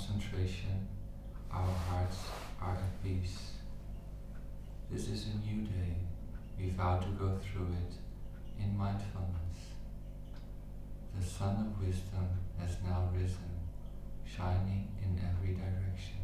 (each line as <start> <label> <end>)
1.5 morning chant read in English and then chanted in Vietnamese 3.6